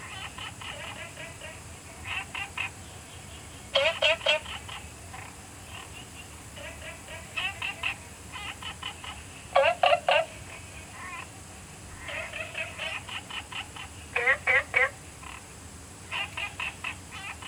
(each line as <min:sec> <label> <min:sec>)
0:00.0 Frogs chirping 0:17.4